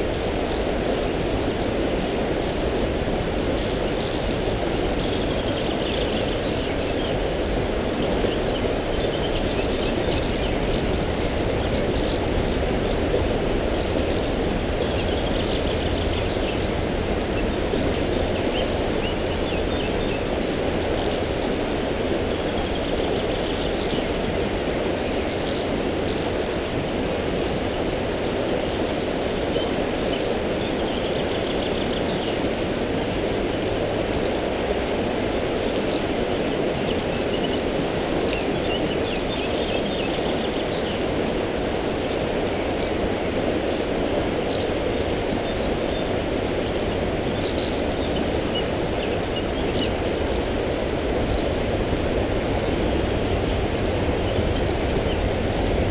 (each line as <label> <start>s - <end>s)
River soča 0.0s - 55.9s
birds singing 0.0s - 55.9s